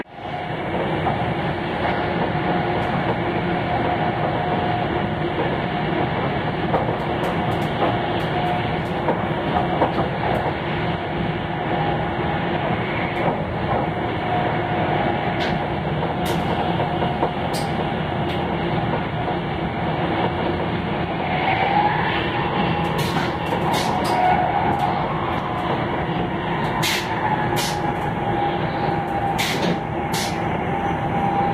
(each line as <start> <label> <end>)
0.0 bullet train 31.5
0.0 wind 31.5